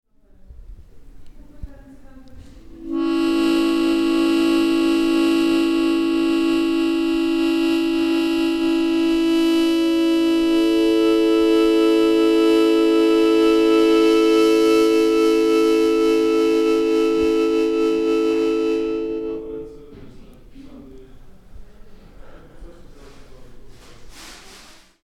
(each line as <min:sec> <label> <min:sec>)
0:02.5 mouth organ 0:20.1